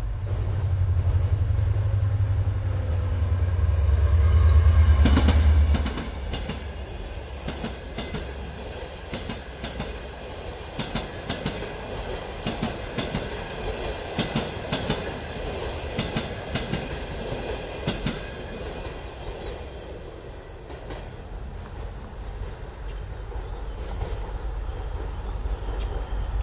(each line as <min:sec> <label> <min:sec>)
0:00.0 train passing 0:26.4
0:19.2 birds 0:19.7